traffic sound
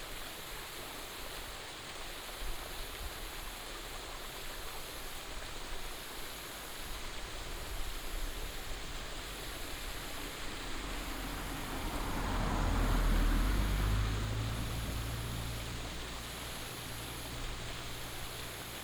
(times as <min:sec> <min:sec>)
0:07.7 0:18.8